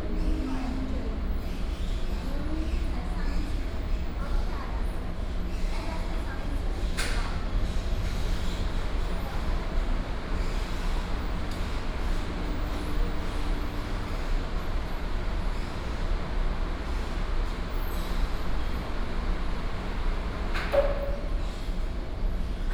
0.0s air conditioning 22.7s

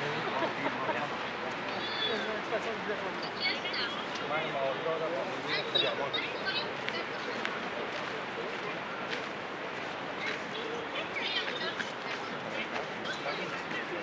0.0s groups of pedestrians walking the area 14.0s

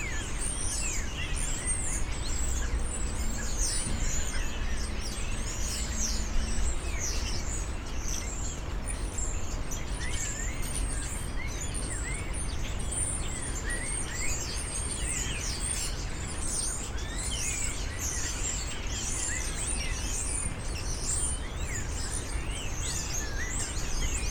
0.0s Birds 24.3s

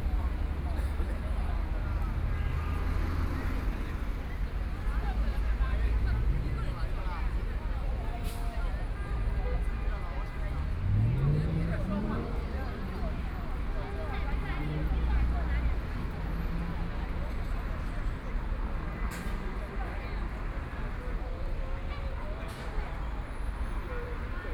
0.0s Traffic Sound 24.5s
0.0s Walking in the street 24.5s
0.0s moving pedestrians 24.5s

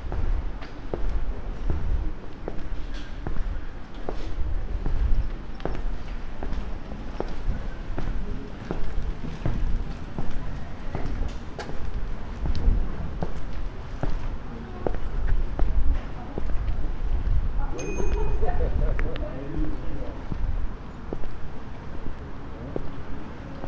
0.0s Walking through Barrage Vauban 23.6s
0.1s people passing by 23.6s

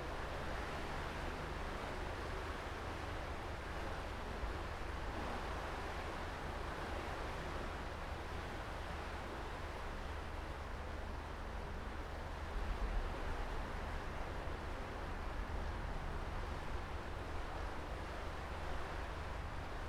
0.0s ship pass by 19.8s

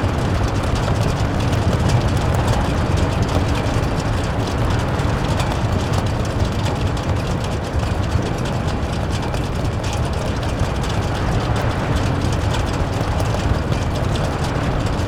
0.0s Wind blowing through the Hague Beach Stadium 15.0s

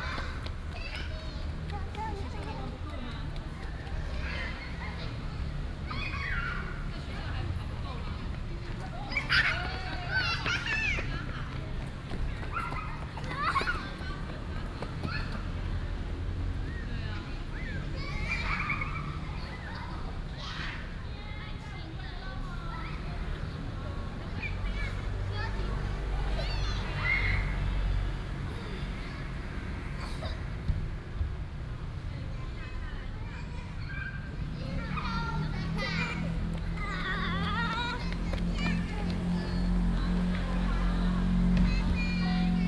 0.0s Mother and child 30.9s
32.0s Mother and child 42.6s

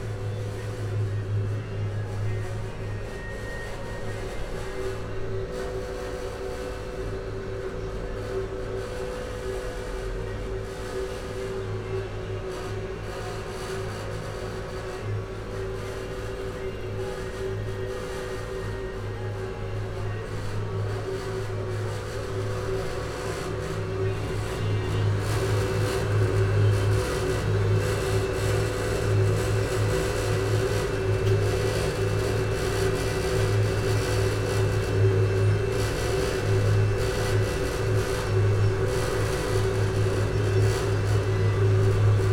15.0s noisy cleaning machines 42.3s

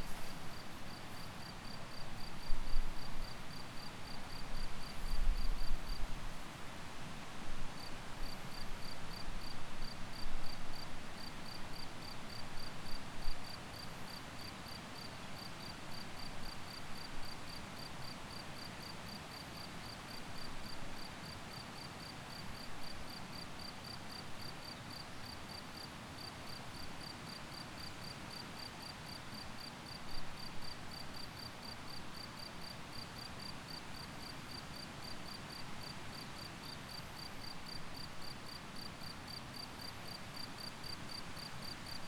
0.0s crickets 42.0s

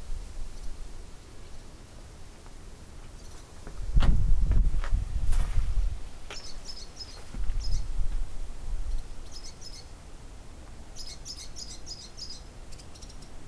5.2s Barn swallows flying in and out 7.9s

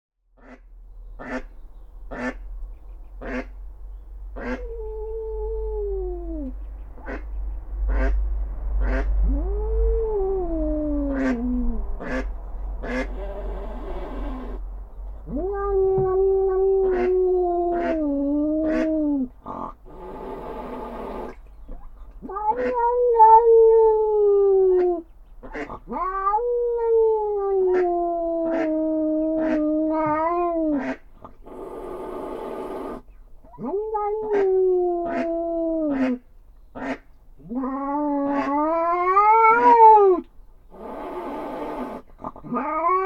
1.2s hen mallard guards her ducklings 3.6s
4.4s hen mallard guards her ducklings 4.8s
6.4s hen mallard guards her ducklings 9.2s
11.0s hen mallard guards her ducklings 14.6s
15.2s Catfight 21.4s
16.9s hen mallard guards her ducklings 18.0s
22.2s Catfight 24.1s
25.0s hen mallard guards her ducklings 25.8s
37.4s Catfight 40.2s
40.8s Catfight 43.0s

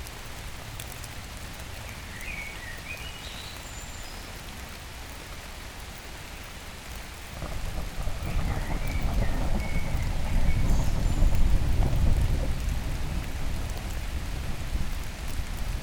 0.0s Rain 15.8s
0.0s Trees trickle on the ivy 15.8s

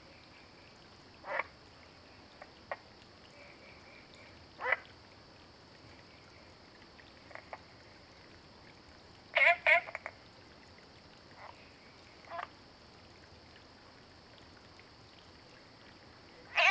0.0s Frogs chirping 5.0s
5.9s Frogs chirping 8.4s
9.3s Frogs chirping 10.7s
11.3s Frogs chirping 12.6s
16.3s Frogs chirping 16.7s

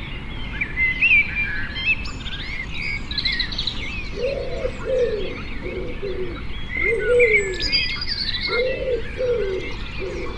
4.1s cuckoo 10.3s

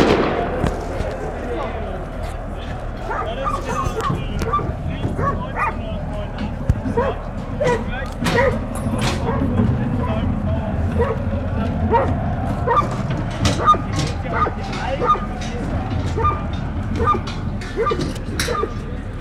0.0s fireworks 5.6s
0.0s dogs 19.2s
0.0s fans chanting 19.2s
0.0s voice of the security guards, police 19.2s
0.0s voice of the stadium speaker 19.2s

